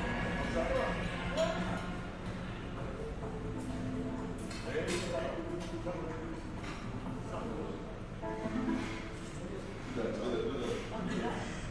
television 0.0 - 11.7

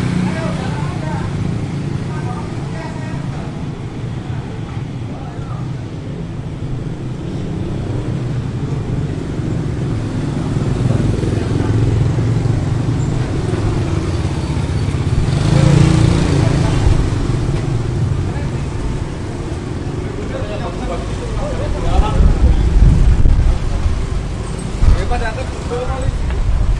voices 0.0 - 26.5
motorbikes 0.0 - 26.7

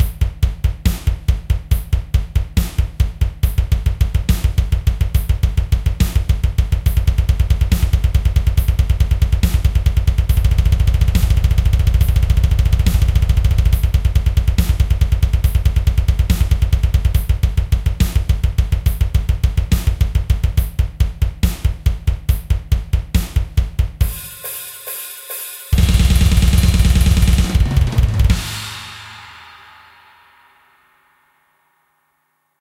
blastbeat 24.1 - 30.2

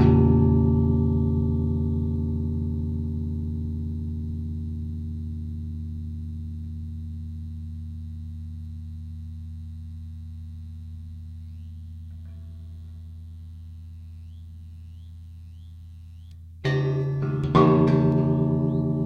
prepared guitar 0.0 - 3.6
prepared guitar 16.4 - 19.0

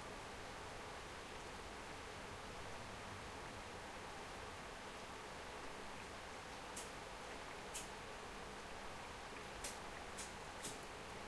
rain 0.0 - 11.2

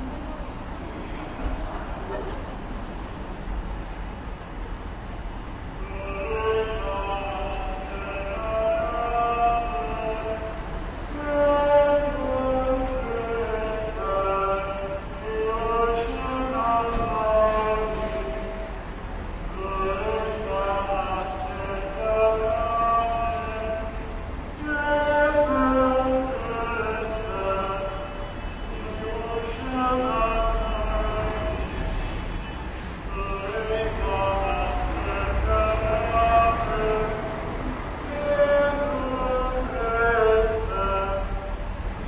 people 0.0 - 3.3
cars 0.0 - 42.0
tramways 0.0 - 42.0
priest is singing 5.7 - 31.9
priest is singing 33.0 - 42.0

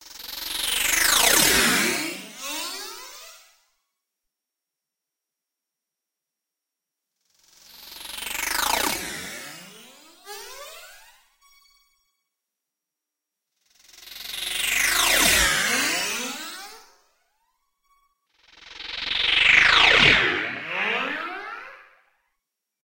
granular passby 18.7 - 22.0

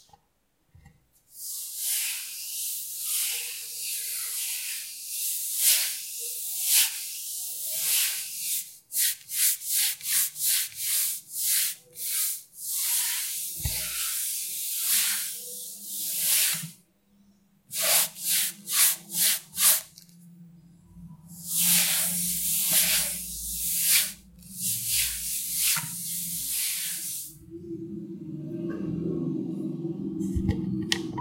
cloth cleaning a table 1.3 - 16.8
cloth cleaning a table 17.7 - 20.1
cloth cleaning a table 21.3 - 27.4

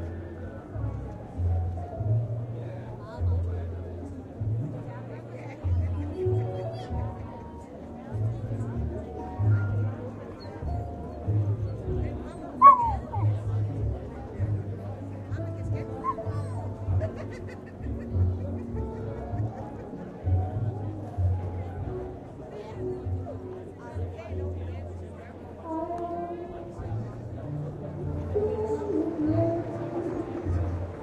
chat 12.2 - 13.6
laugh 16.8 - 20.1
singer 25.5 - 31.0

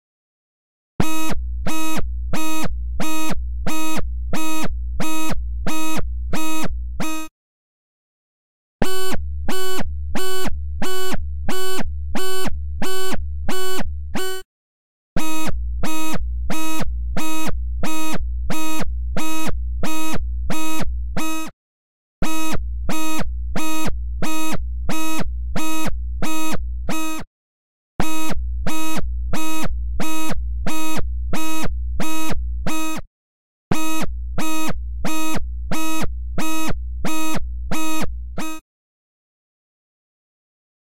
synthesized sound that sounds like an alarm 1.0 - 7.3
synthesized sound that sounds like an alarm 8.8 - 14.4
synthesized sound that sounds like an alarm 33.7 - 38.6

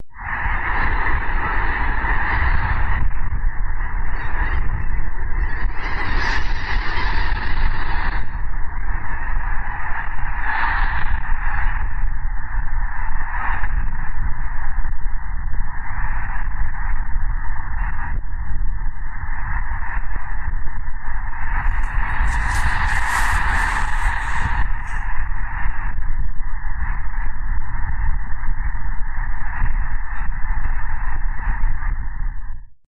200,000 Snow geese 21.6 - 25.0

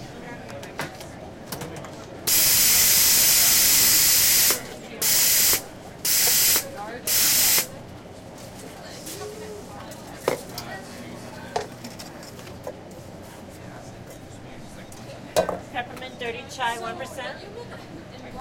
barista making a latte 0.0 - 16.6
people and conversation 0.0 - 18.4

